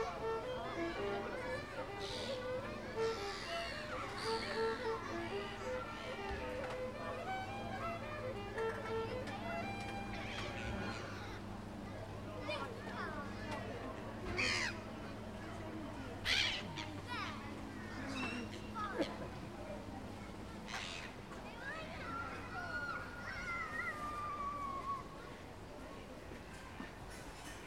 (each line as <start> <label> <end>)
0.0 Busker 27.6
0.0 passersby 27.6
10.0 birds 11.4